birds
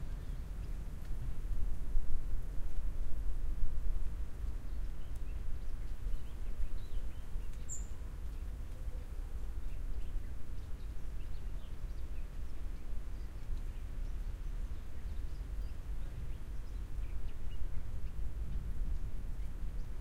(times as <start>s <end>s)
4.4s 18.3s